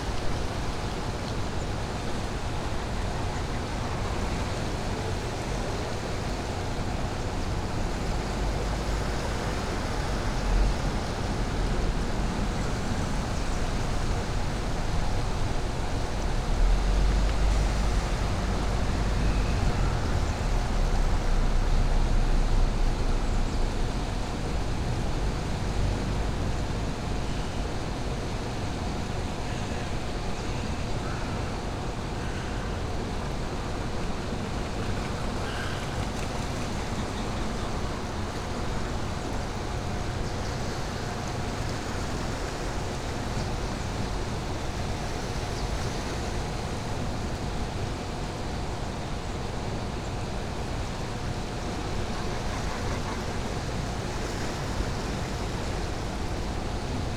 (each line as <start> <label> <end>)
0.0 water flow through the dam 57.1
33.4 wing beats slapping the surface of the river 48.7